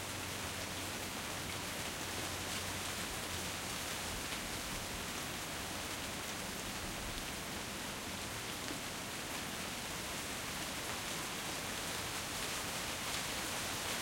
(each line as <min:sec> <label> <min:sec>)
0:00.0 rain porch light medium heavy 0:14.0